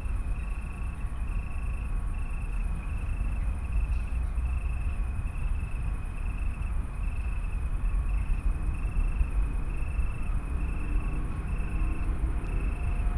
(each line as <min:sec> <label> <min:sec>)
0:00.0 train 0:13.1
0:00.0 crickets 0:13.1